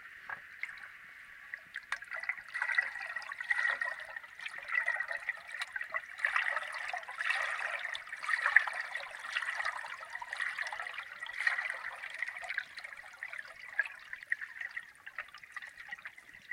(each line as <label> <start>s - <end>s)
water 0.0s - 16.5s